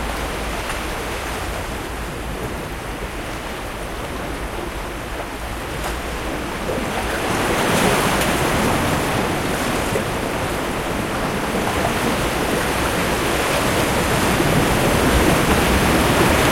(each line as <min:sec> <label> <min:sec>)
0:00.0 Waves breaking 0:16.5